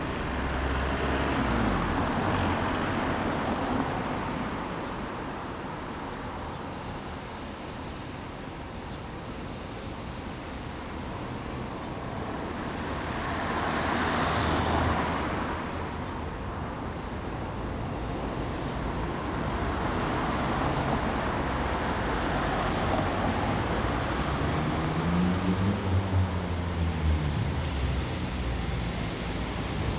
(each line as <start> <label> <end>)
0.0 street-cleaner passing by 4.8
0.0 traffic 29.9
11.3 street-cleaner passing by 29.9